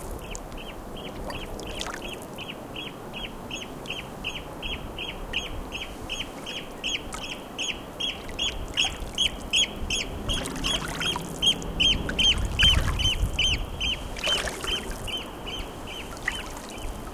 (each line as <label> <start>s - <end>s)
water 0.0s - 17.1s
wind 0.0s - 17.1s
other birds singing 0.2s - 17.1s